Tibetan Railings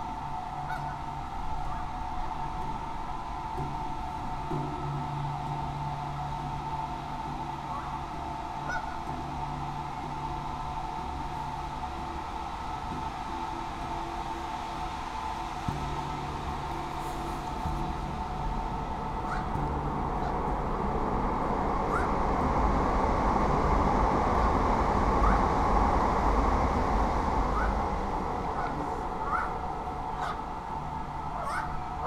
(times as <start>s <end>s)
4.8s 22.9s, 24.3s 25.7s, 27.0s 32.0s